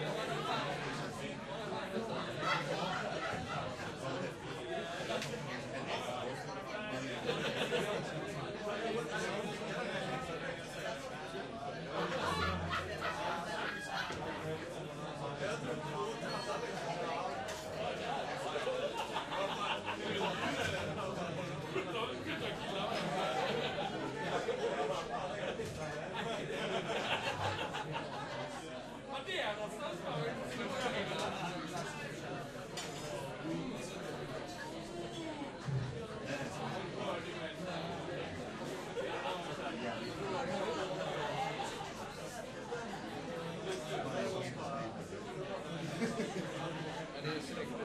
Party Crowd 0.0 - 47.8
laughter 2.1 - 4.0
laughter 7.1 - 8.4
laughter 11.9 - 14.4
laughter 17.8 - 28.8
laughter 45.7 - 46.9

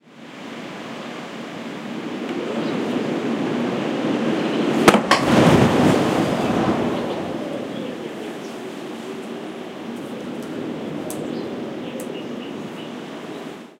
Gusty wind knocks at door 4.8 - 7.5
howling 5.4 - 13.4
birds singing outside 6.8 - 13.7

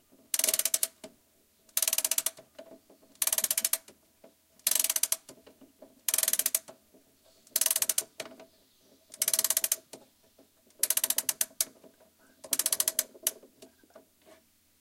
winding a wall clock with a key 4.7 - 5.2
winding a wall clock with a key 6.1 - 6.7
winding a wall clock with a key 9.2 - 9.8
winding a wall clock with a key 10.8 - 11.7
winding a wall clock with a key 12.5 - 13.4

